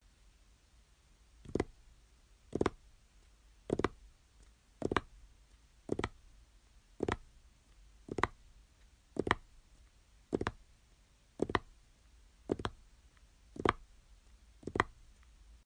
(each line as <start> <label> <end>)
12.5 Tapping Fingers 12.8
13.6 Tapping Fingers 13.8
14.6 Tapping Fingers 15.0